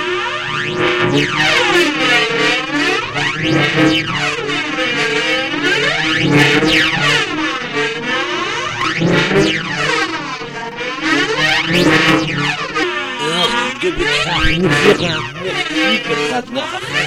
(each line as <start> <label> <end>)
4.1 plays the mouth harmonica 17.0